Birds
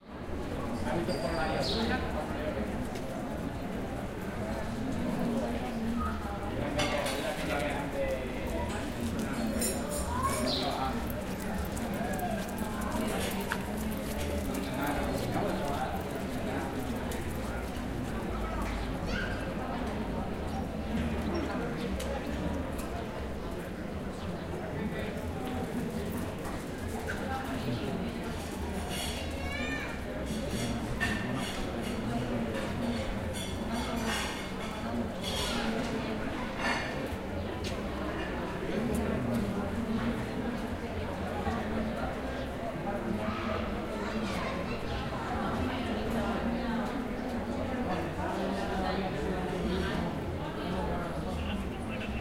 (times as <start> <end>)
1.1 2.0, 10.4 10.9